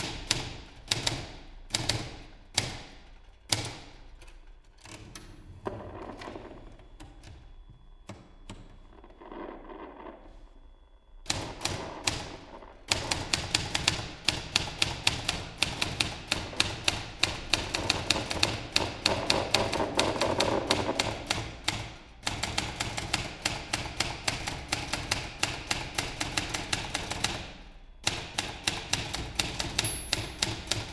typewriter 0:00.0 - 0:07.4
radio 0:08.8 - 0:10.7
typewriter 0:11.3 - 0:30.9
radio 0:11.3 - 0:12.9

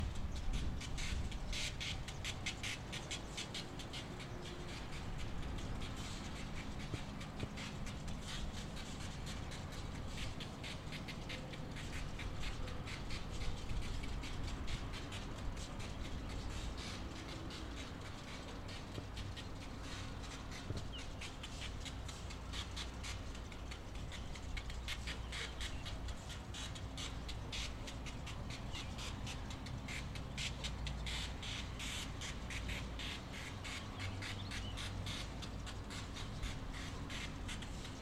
Freight Trains 0:00.0 - 0:38.0

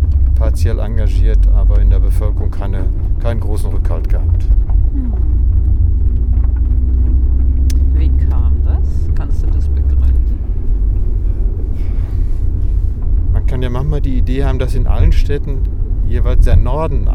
Driving a dirt road 0:00.0 - 0:17.1
motorway 0:00.0 - 0:17.1

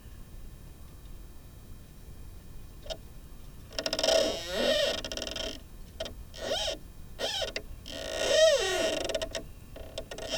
sailing yacht 0:03.7 - 0:10.3

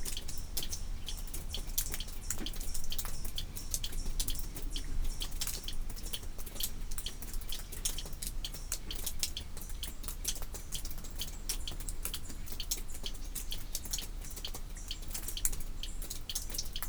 water dripping from it's roof 0:00.0 - 0:16.8

